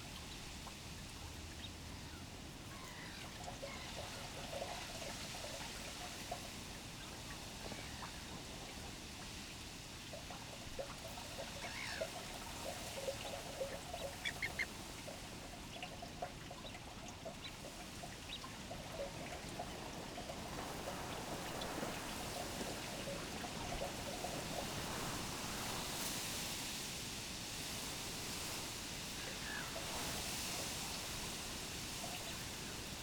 other birds 0:11.4 - 0:14.8
young coots 0:11.5 - 0:12.4
young coots 0:13.1 - 0:14.8
wind-blown reed 0:17.6 - 0:33.0

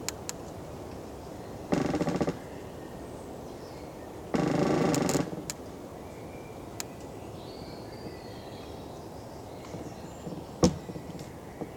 half fallen tree loaning on other tree 0:00.0 - 0:03.4
half fallen tree loaning on other tree 0:04.2 - 0:06.0

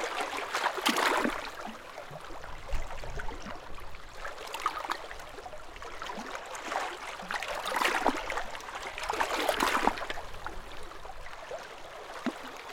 Sea lapping against rocks on coastline 0:00.1 - 0:04.7

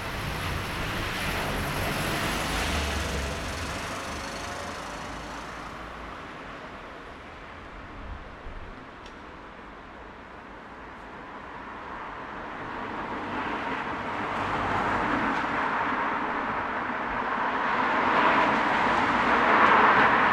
little bit of wind 0:00.0 - 0:20.3
vehicles 0:00.0 - 0:20.3

